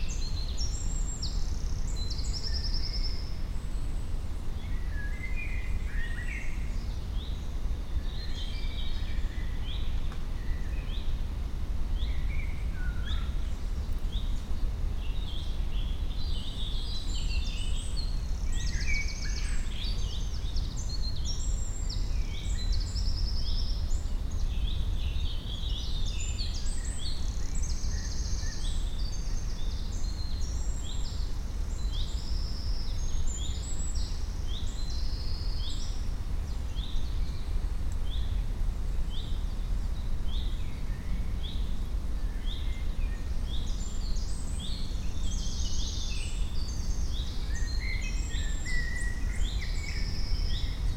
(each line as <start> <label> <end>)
0.0 Wind in the trees 50.9
0.0 birds 50.9